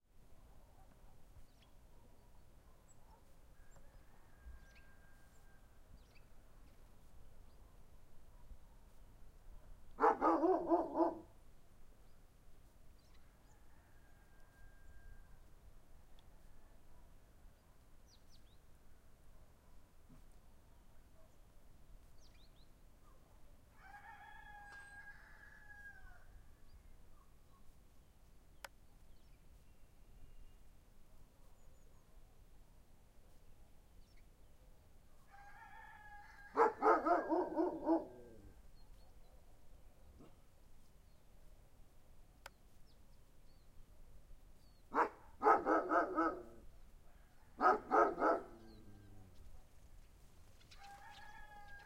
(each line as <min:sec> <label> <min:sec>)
0:01.8 dogs 0:03.4
0:09.6 dogs 0:11.3
0:36.5 dogs 0:40.5
0:44.9 dogs 0:46.6
0:47.6 dogs 0:49.0